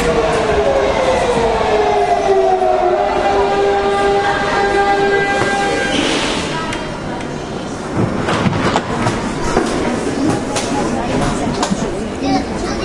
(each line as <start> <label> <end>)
0.0 train arrives to subway platform 12.8